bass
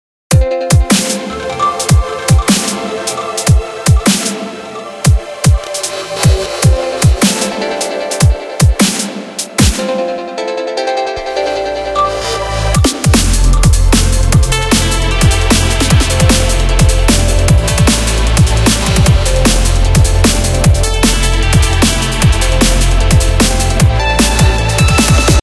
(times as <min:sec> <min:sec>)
0:11.2 0:25.4